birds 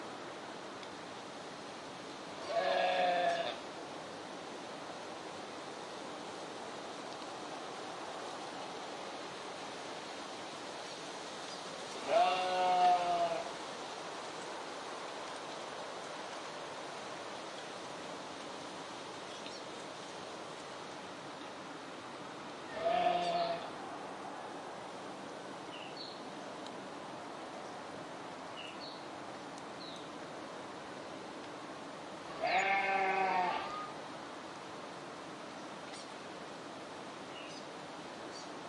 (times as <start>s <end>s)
19.2s 20.3s, 22.7s 23.7s, 35.5s 36.2s